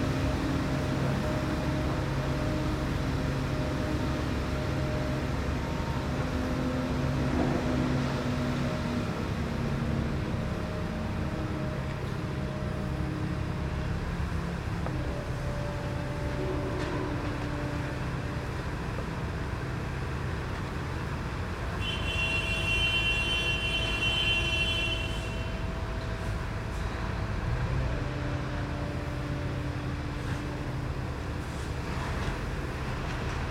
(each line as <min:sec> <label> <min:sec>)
0:00.0 construction noise 0:33.5